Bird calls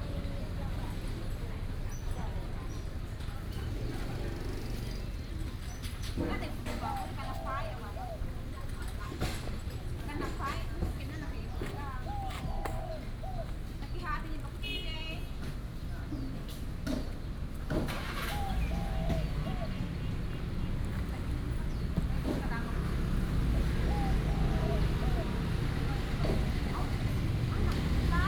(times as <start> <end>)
11.5 14.2, 17.9 28.2